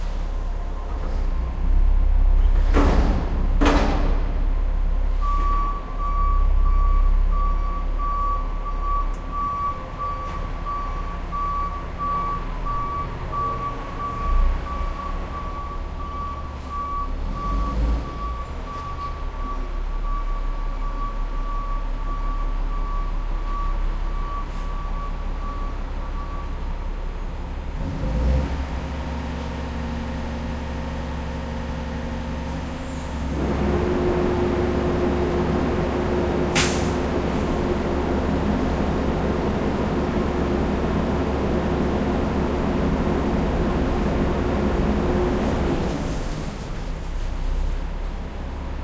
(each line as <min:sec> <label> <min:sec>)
0:02.4 Garbage truck picking up trashing 0:04.5
0:02.4 clank 0:04.4
0:35.9 Garbage truck picking up trashing 0:37.6